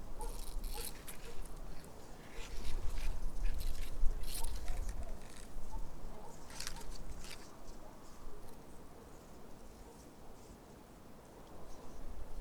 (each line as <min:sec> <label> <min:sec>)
0:00.2 dried reed leaves rubbing one to another 0:05.7
0:06.3 dried reed leaves rubbing one to another 0:07.6